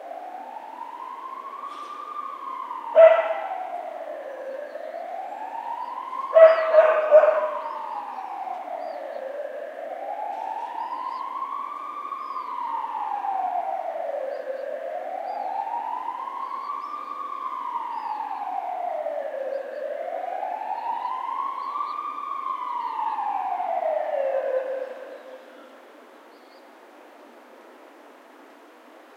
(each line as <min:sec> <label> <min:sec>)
0:00.0 distant ambulance siren 0:29.1
0:00.0 streetnoise 0:29.1
0:03.0 dog barks 0:03.4
0:06.4 dog barks 0:07.6